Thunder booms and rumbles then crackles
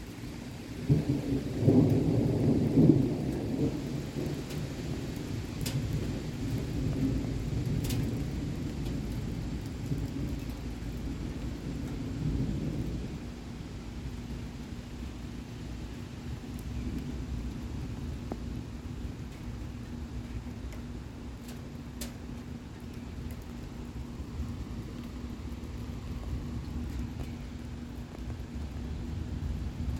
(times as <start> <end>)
0.9 13.3, 23.2 29.9